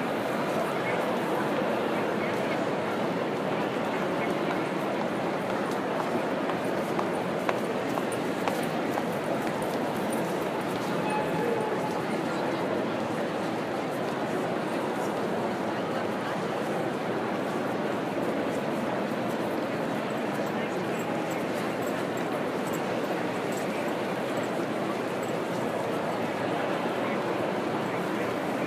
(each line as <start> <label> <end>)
0.0 many voices 28.6
0.0 train 28.6